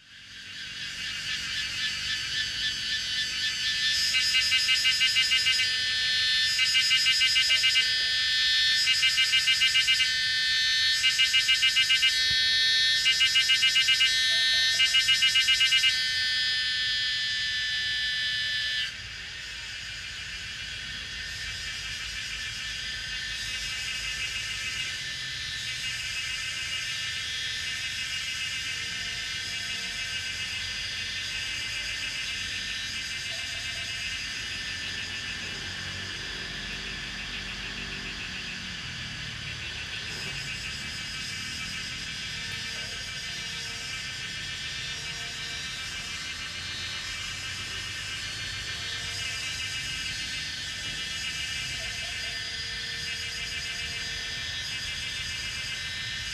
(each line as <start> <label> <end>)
0.0 Cicadas cry 56.3
0.1 Frogs chirping 28.6
32.6 Frogs chirping 44.3
34.3 Traffic Sound 44.5